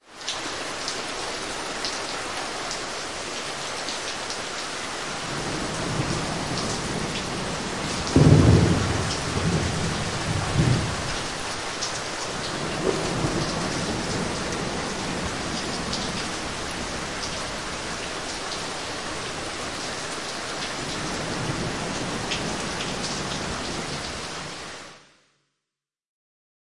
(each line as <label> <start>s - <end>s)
rain 0.0s - 25.4s
thunder 5.3s - 11.4s
thunder 12.4s - 17.0s